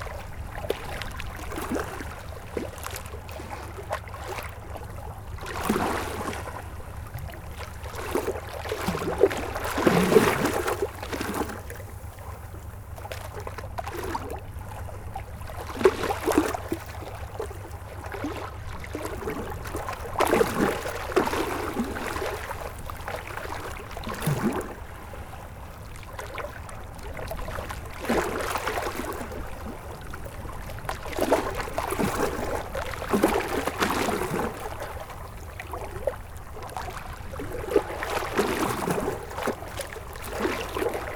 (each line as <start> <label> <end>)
0.0 waves in front of the Seine river 41.1